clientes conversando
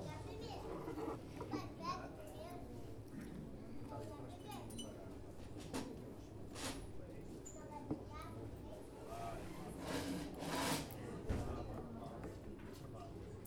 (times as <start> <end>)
0.0 2.8